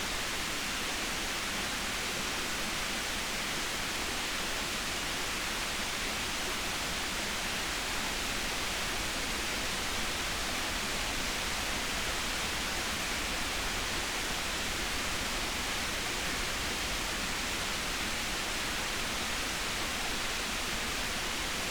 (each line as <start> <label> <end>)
0.0 broadband masking noise from a waterfall 21.7